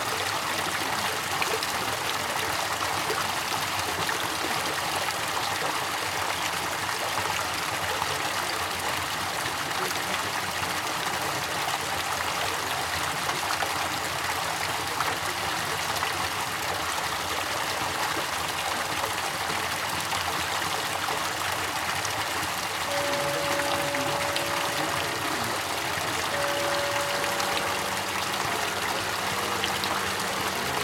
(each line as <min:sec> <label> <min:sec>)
0:00.0 water 0:30.8
0:22.8 bells 0:30.8